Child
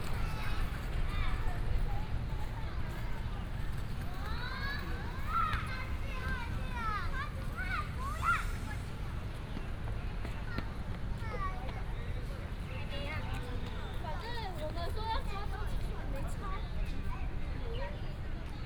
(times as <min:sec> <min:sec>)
0:04.0 0:09.1